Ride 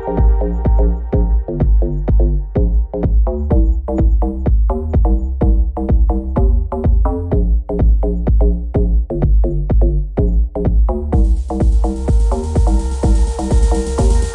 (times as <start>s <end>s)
11.2s 14.3s